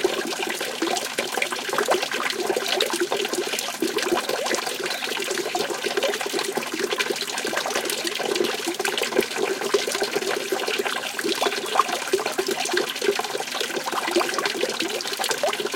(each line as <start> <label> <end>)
0.0 Water falling on basin 15.7
4.6 bird tweets 5.2
11.3 bird tweets 12.0